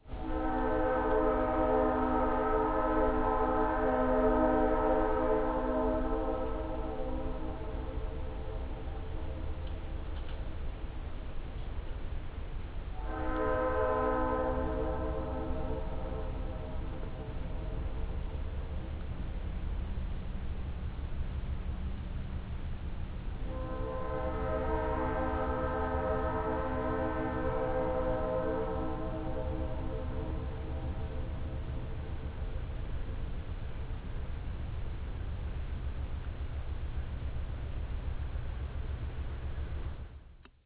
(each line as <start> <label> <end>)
0.0 train whistles in distance 9.6
12.9 train whistles in distance 18.8
23.4 train whistles in distance 32.6